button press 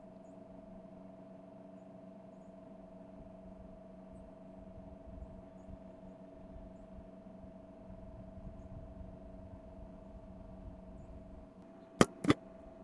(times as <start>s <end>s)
12.0s 12.4s